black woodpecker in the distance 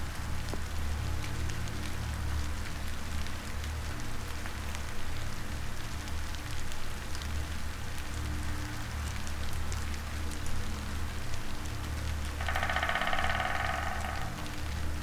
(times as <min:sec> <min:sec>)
0:12.4 0:14.6